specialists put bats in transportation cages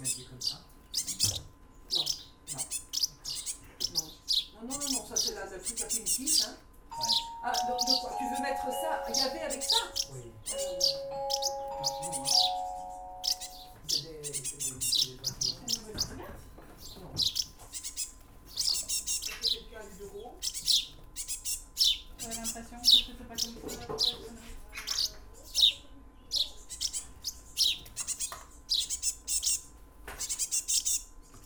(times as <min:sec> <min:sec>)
0:00.0 0:16.2